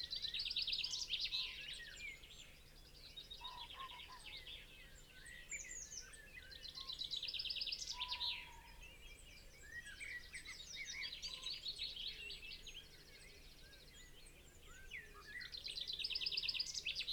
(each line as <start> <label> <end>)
3.4 pheasant 4.7
3.4 crow 4.4